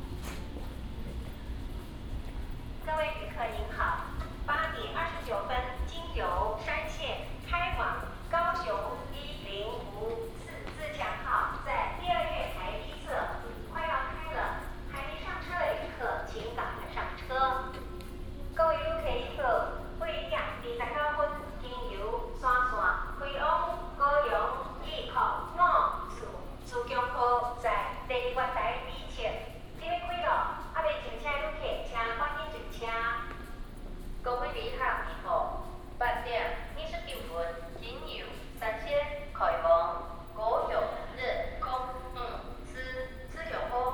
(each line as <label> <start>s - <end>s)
Walking at the station 0.0s - 43.9s